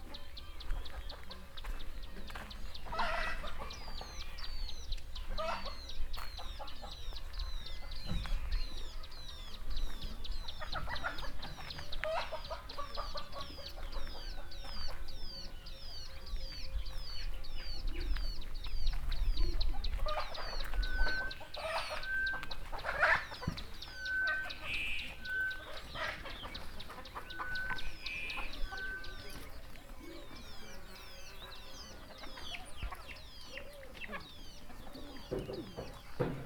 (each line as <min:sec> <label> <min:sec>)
0:00.0 morning birds 0:36.4
0:00.0 voices of people working in the fields 0:36.4